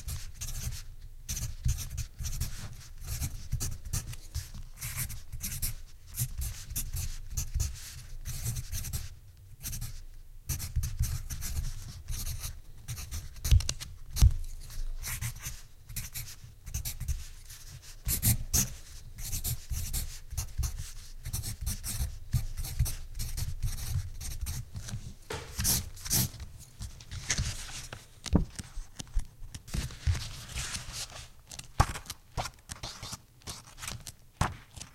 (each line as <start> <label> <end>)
0.1 Pencil writing on paper 13.5
14.6 Pencil writing on paper 26.3